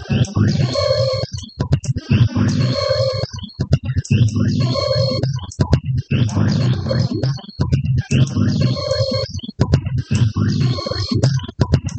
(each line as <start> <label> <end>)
0.0 glitchy rhythm 11.9